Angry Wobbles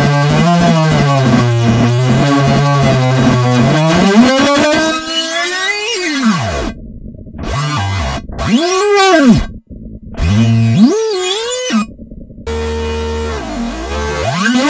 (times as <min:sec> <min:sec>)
0:03.5 0:14.6